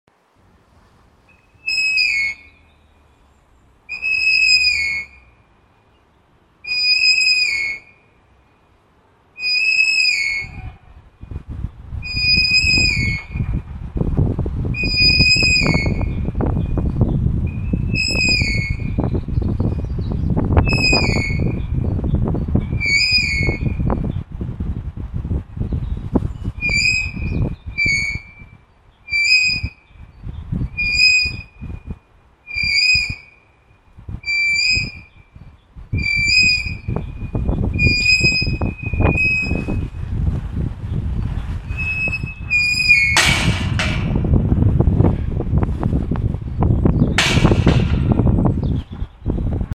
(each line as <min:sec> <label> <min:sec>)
0:00.1 wind sounds 0:49.7
0:01.3 squeaky gate 0:02.9
0:03.9 squeaky gate 0:05.4
0:06.6 squeaky gate 0:08.1
0:09.4 squeaky gate 0:10.9
0:12.0 squeaky gate 0:13.6
0:14.8 squeaky gate 0:21.9
0:22.6 squeaky gate 0:24.0
0:26.3 squeaky gate 0:29.9
0:30.6 squeaky gate 0:31.8
0:32.5 squeaky gate 0:33.5
0:34.2 squeaky gate 0:40.0
0:41.6 squeaky gate 0:45.5
0:42.6 gate crashing closed 0:44.6
0:46.3 squeaky gate 0:49.3
0:47.1 gate crashing closed 0:48.6